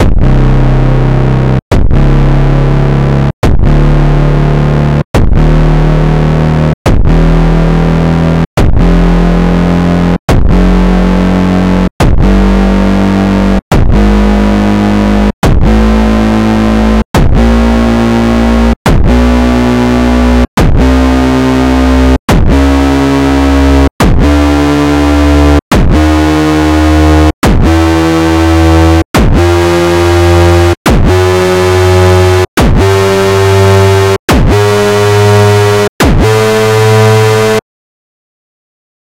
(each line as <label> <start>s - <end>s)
Distorted kicks 0.0s - 37.6s